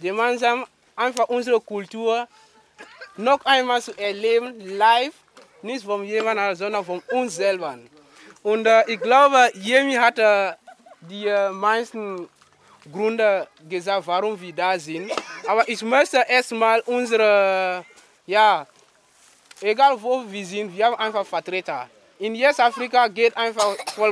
African people, their friends and families are gathering 0.0 - 24.1

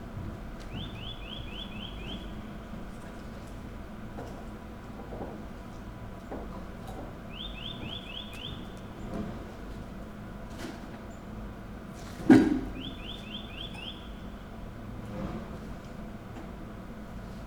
bird 0.7 - 2.6
bird 7.3 - 9.2
bird 12.6 - 14.4

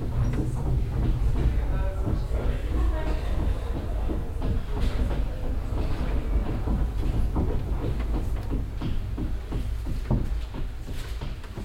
old paternoster elevator 0.0 - 11.6

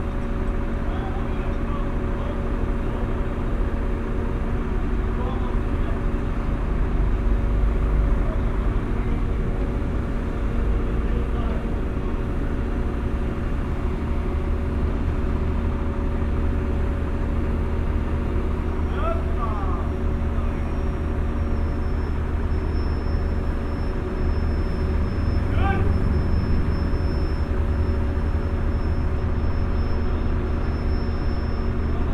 Workers are mounting a big crane 0.0 - 32.1

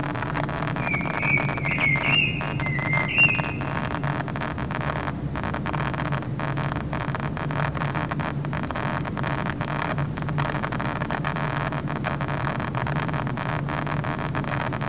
Drone air conditioner 0.0 - 14.8
bird 0.8 - 4.1

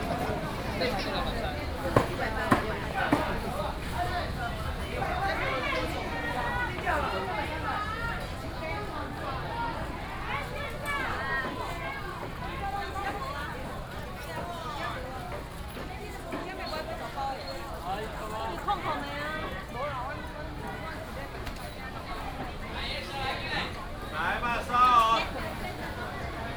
vendors peddling 0.0 - 8.2
traffic sound 0.0 - 10.2

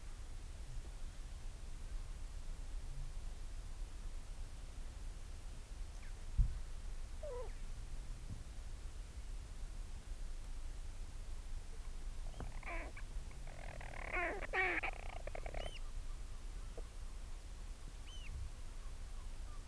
storm petrel calls and purrings 12.3 - 15.9

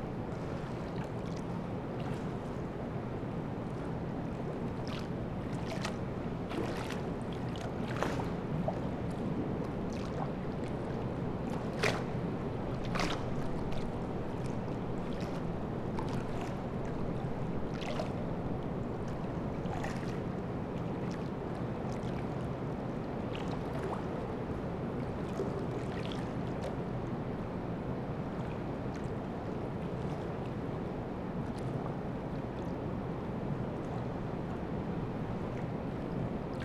flooded river 3.6 - 20.4

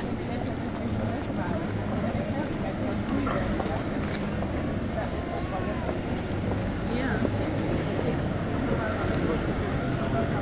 street musicians acting a automatic harmonium 0.0 - 10.4
succession of tramway passages 0.0 - 10.4

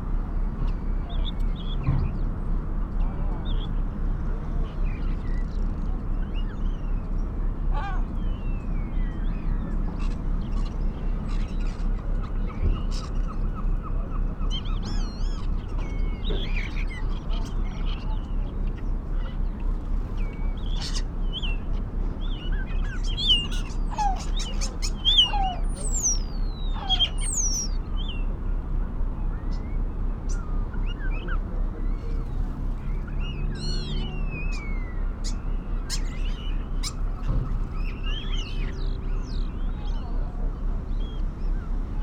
harbour noises 0.0 - 42.0
lesser black-backed gull 3.0 - 28.4
herring gull 4.3 - 28.4
starlings 7.8 - 28.4
starlings 29.1 - 42.0

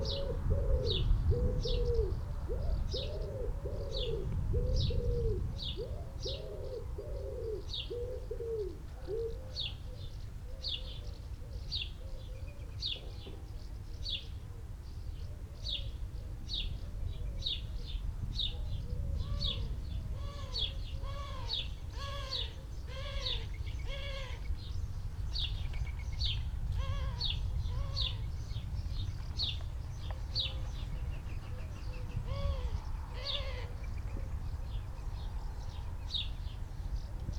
wood pigeon 0.0 - 13.6
collared dove 0.0 - 14.0

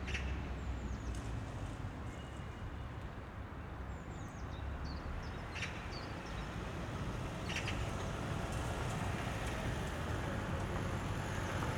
distant train 6.7 - 11.7

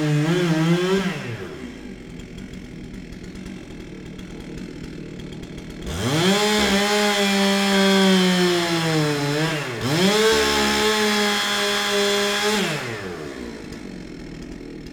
Workers cutting down a tree 0.0 - 14.9

